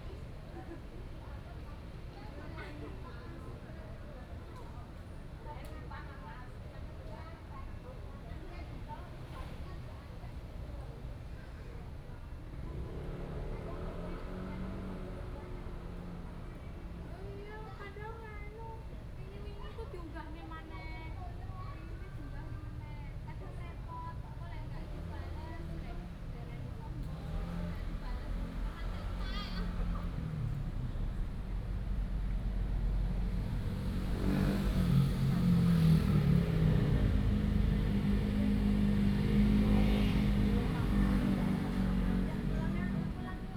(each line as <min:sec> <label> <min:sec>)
0:24.8 Traffic Sound 0:43.5